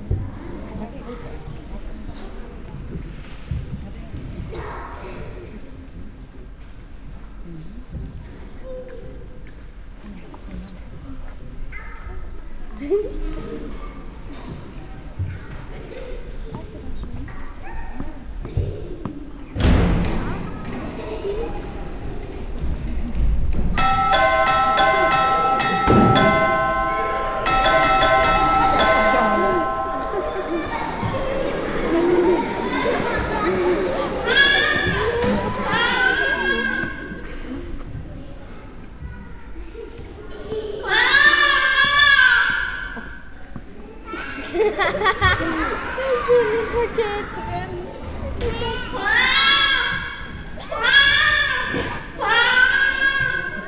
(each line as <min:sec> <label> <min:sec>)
0:12.0 sound of the mostly young audience 0:53.6
0:23.8 music theatre dance piece for children 0:36.4